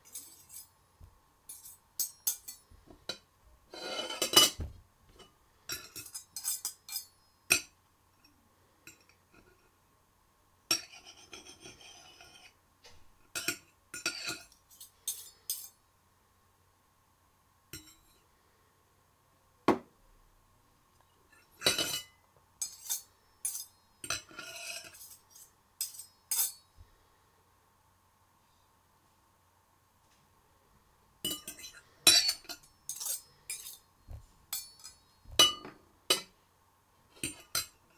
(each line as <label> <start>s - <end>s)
fork and knife clanking on each other and on the plate 0.0s - 0.7s
fork and knife clanking on each other and on the plate 1.5s - 2.7s
fork and knife clanking on each other and on the plate 5.7s - 7.7s
fork and knife clanking on each other and on the plate 13.4s - 15.8s
fork and knife clanking on each other and on the plate 21.6s - 26.6s
fork and knife clanking on each other and on the plate 31.3s - 36.3s
fork and knife clanking on each other and on the plate 37.2s - 37.8s